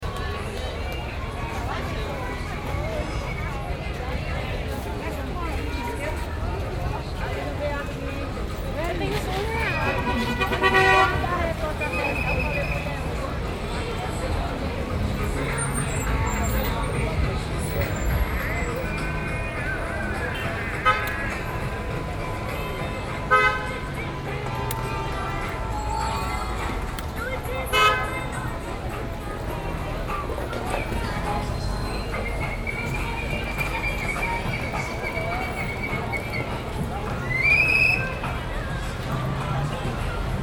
0.0s walking down the street 40.4s

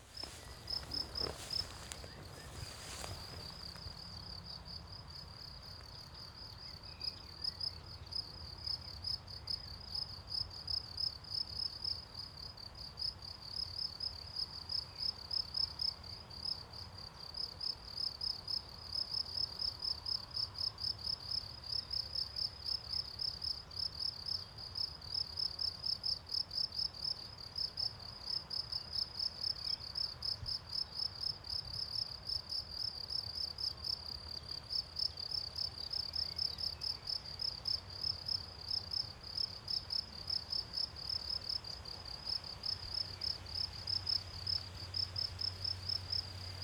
0.0s wind in trees 6.0s
0.0s crickets 46.6s

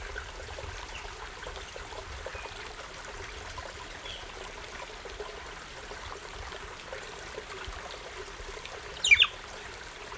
0.0s Stream 10.1s
9.0s Bird 9.4s

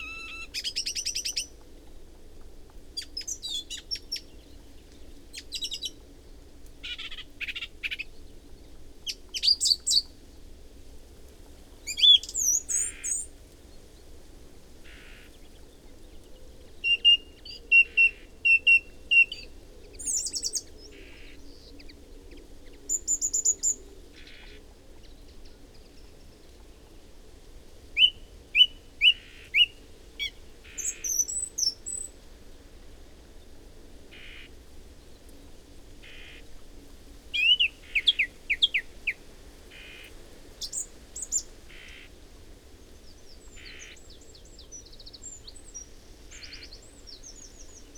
0.0s song and calls from whitethroat 0.7s
0.0s Song thrush singing 1.5s
28.0s Song thrush singing 32.1s
37.4s Song thrush singing 42.1s

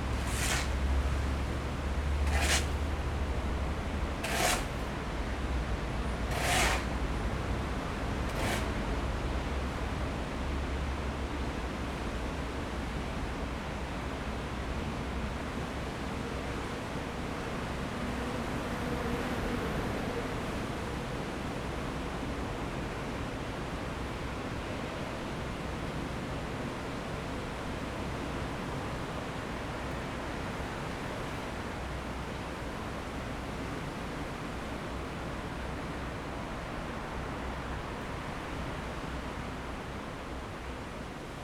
0.0s Workers are mixing cement 1.4s
0.0s Traffic noise 10.6s
2.2s Workers are mixing cement 5.0s
6.1s Workers are mixing cement 9.2s

